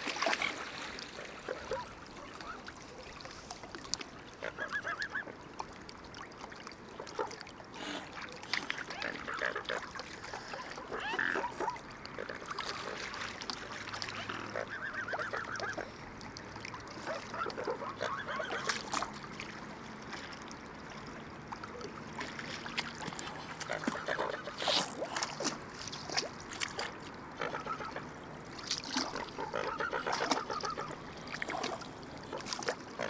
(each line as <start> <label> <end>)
0.0 Swans 33.0